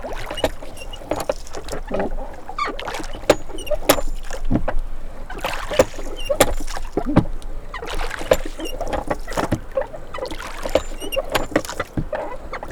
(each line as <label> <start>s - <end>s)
Paddling boat 0.0s - 12.7s